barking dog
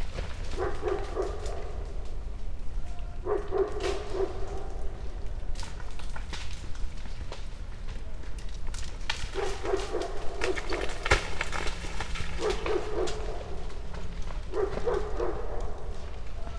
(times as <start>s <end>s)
0.5s 1.9s, 3.2s 5.1s, 9.4s 11.0s, 12.4s 16.5s